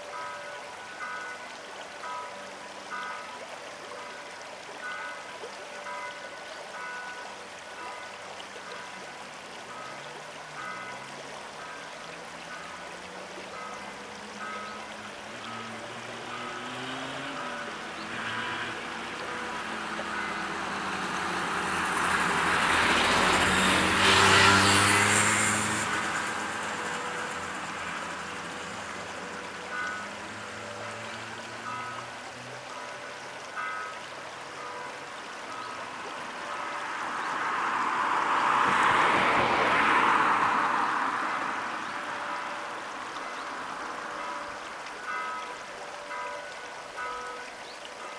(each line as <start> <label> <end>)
0.0 Church bell 48.1
0.0 river 48.1
9.8 engines of cars 47.1